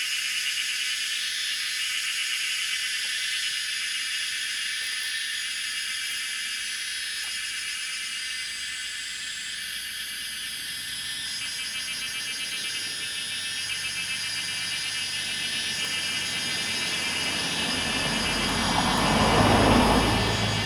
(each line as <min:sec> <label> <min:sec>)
0:00.0 Cicadas called 0:20.6